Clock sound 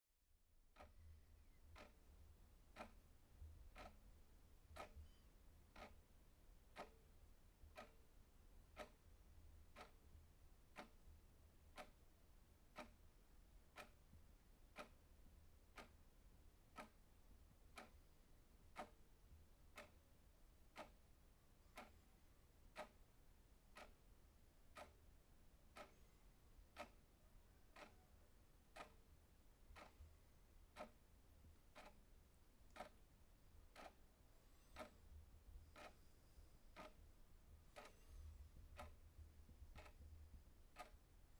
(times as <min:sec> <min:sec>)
0:07.7 0:08.0, 0:24.7 0:24.9, 0:26.8 0:27.0, 0:28.8 0:29.0, 0:30.8 0:31.0, 0:31.8 0:32.0, 0:32.8 0:33.0, 0:33.7 0:34.0, 0:34.6 0:35.0, 0:35.7 0:36.0, 0:36.7 0:37.0, 0:37.7 0:38.1, 0:40.7 0:41.0